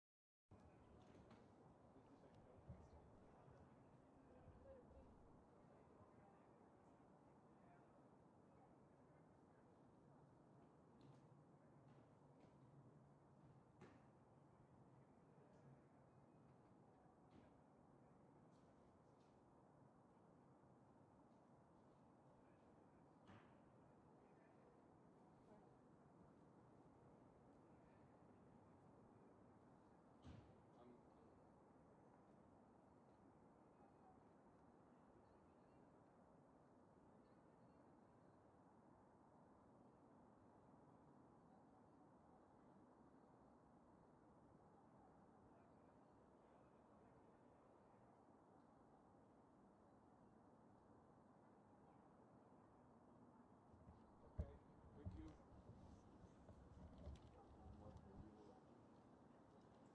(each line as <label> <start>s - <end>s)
trees 53.8s - 59.9s